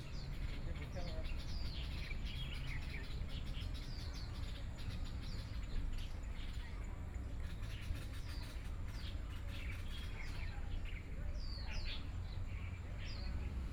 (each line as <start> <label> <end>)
0.0 Birdsong sound 6.6